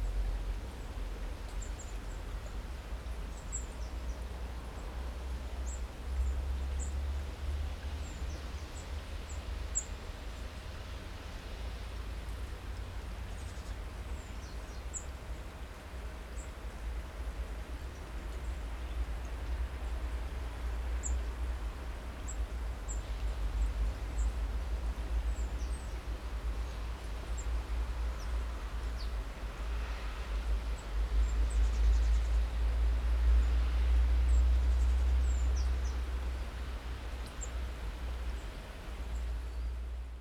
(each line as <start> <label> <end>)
0.0 water 40.2